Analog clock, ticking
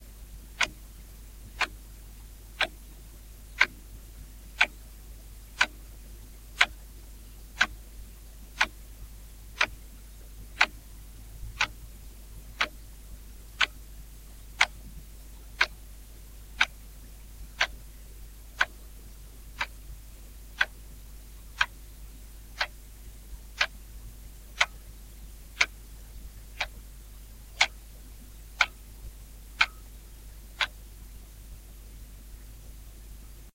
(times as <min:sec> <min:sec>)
0:00.6 0:00.8, 0:01.5 0:01.8, 0:02.5 0:02.8, 0:03.5 0:03.9, 0:04.5 0:04.8, 0:05.5 0:05.9, 0:06.6 0:06.8, 0:07.5 0:07.8, 0:08.5 0:08.9, 0:09.6 0:09.8, 0:10.5 0:10.8, 0:11.4 0:12.9, 0:13.5 0:15.8, 0:16.4 0:16.8, 0:17.4 0:17.9, 0:18.5 0:20.9, 0:21.5 0:21.9, 0:22.5 0:23.9, 0:24.5 0:30.9